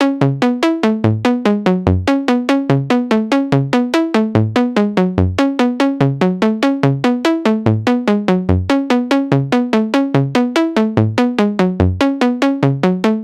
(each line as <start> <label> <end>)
0.0 Music 13.2